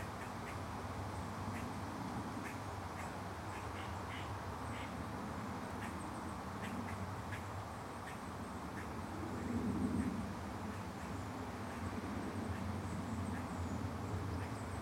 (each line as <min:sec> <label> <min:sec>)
0:00.0 traffic 0:14.8